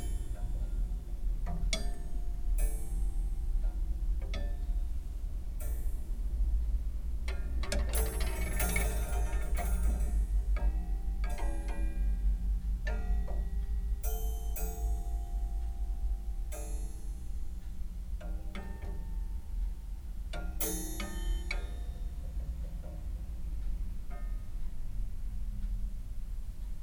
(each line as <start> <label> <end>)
7.3 coathangers inside this nice creaky old wardrobe 15.8